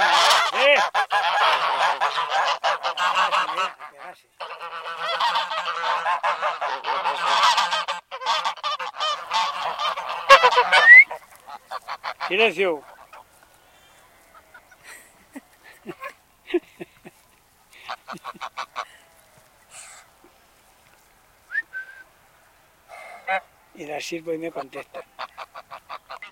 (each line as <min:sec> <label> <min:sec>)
0:00.0 Geese honking 0:26.3